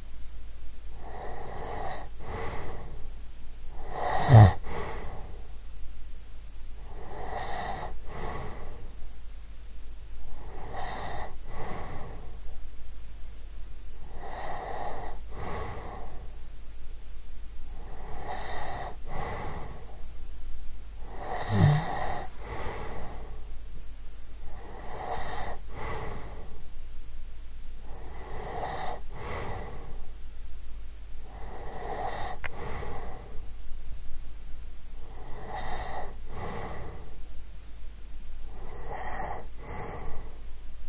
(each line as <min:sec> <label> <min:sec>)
0:01.0 snoring of a woman 0:03.0
0:03.7 snoring of a woman 0:05.3
0:06.8 snoring of a woman 0:08.8
0:10.3 snoring of a woman 0:12.4
0:14.0 snoring of a woman 0:16.2
0:17.7 snoring of a woman 0:20.0
0:21.0 snoring of a woman 0:23.4
0:24.5 snoring of a woman 0:26.5
0:27.8 snoring of a woman 0:30.0
0:31.2 snoring of a woman 0:33.4
0:35.0 snoring of a woman 0:37.2
0:38.5 snoring of a woman 0:40.4